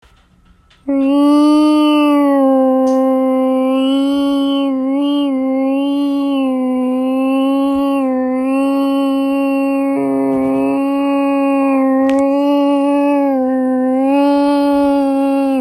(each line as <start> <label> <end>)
0.9 person mimicking an alien ship 15.6